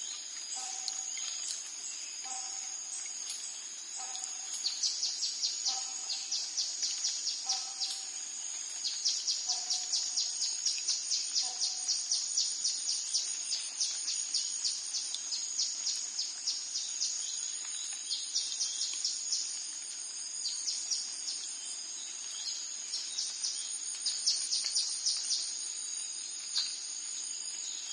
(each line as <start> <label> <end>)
0.0 crickets 27.9